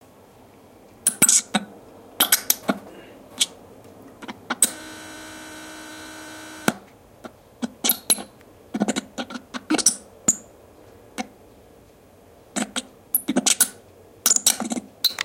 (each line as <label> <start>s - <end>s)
Satellite bad signal 4.6s - 6.8s